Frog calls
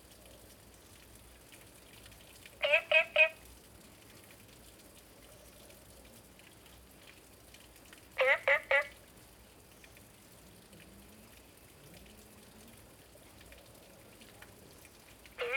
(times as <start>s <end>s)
2.6s 3.4s, 8.2s 8.9s, 15.4s 15.5s